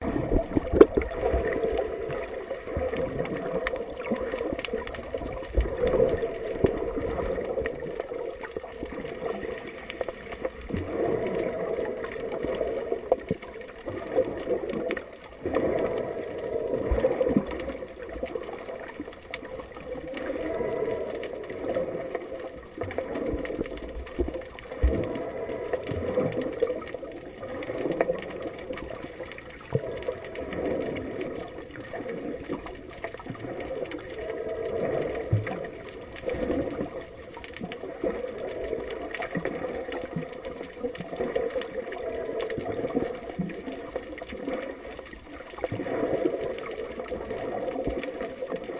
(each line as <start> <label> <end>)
0.0 Underwater sound 48.7